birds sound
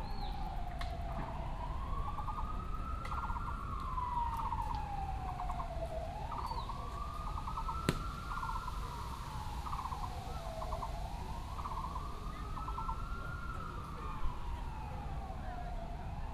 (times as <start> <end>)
5.4 13.3